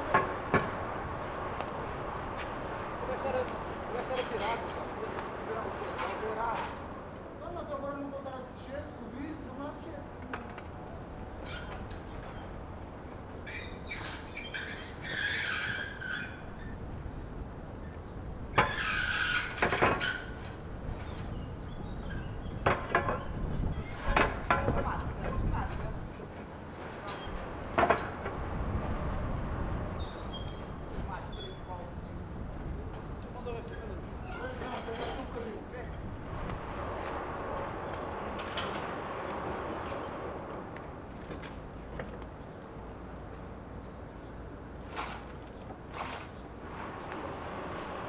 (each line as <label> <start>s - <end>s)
workers fixing a roof 0.0s - 48.0s